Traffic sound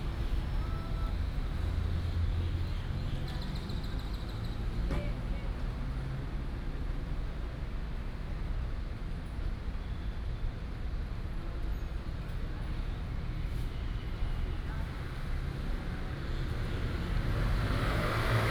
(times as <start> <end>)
10.9 18.5